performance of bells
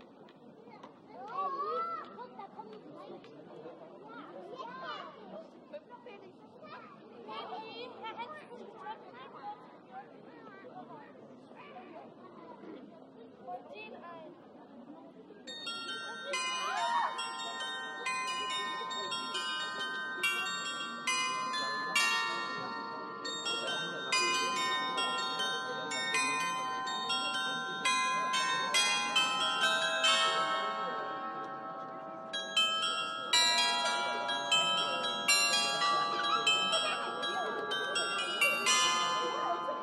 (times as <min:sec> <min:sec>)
0:15.5 0:39.8